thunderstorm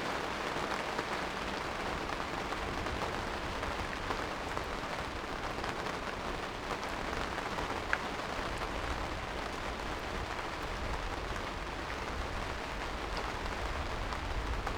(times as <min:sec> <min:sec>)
0:09.8 0:14.7